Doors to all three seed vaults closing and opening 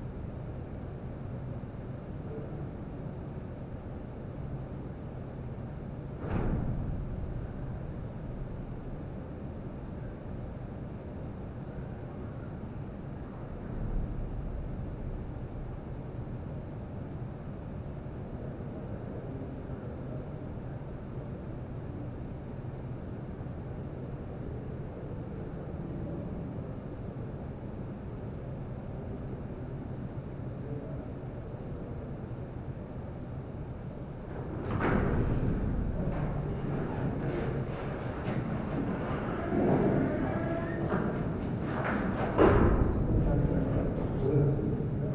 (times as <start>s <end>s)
34.2s 43.8s